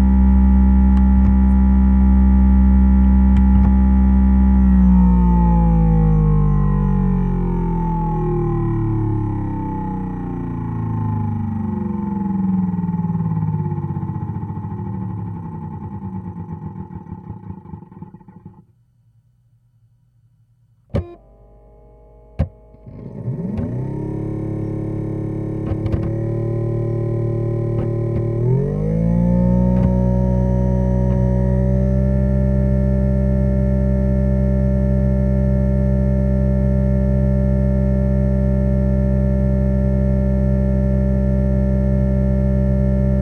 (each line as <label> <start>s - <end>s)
My Wii (which still works) is loud 0.5s - 18.6s
My Wii (which still works) is loud 20.9s - 33.7s